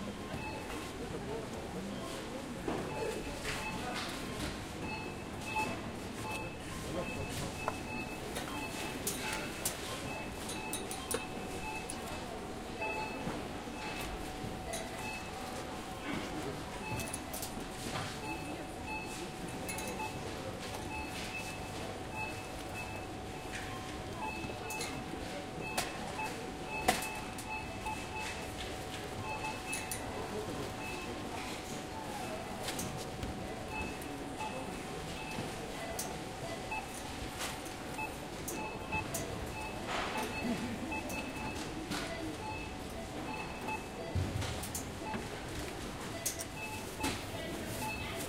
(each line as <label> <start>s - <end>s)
cashiers beeping 0.0s - 48.2s